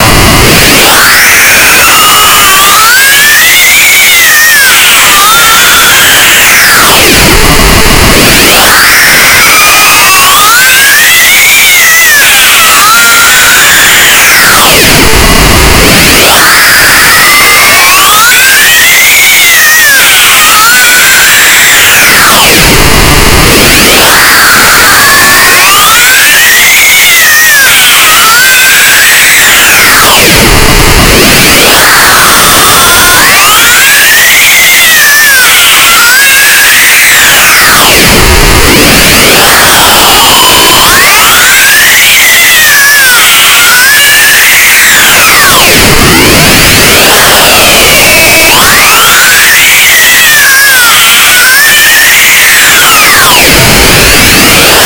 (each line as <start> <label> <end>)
0.0 Deeply disturbed scream 54.8